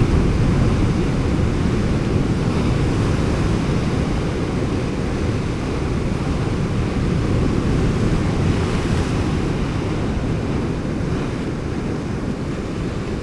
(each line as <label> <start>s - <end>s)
roaring sea 0.0s - 13.2s